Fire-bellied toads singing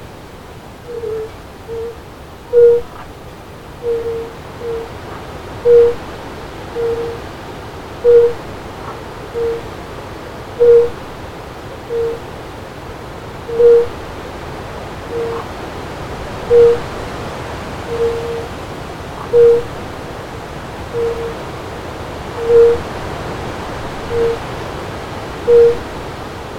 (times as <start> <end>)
0.8 3.2, 3.8 7.2, 8.0 9.8, 10.6 11.2, 11.8 12.3, 13.4 14.2, 15.1 15.6, 16.4 17.0, 17.8 18.5, 19.1 19.9, 20.8 21.4, 22.3 22.9, 24.0 24.6, 25.5 25.9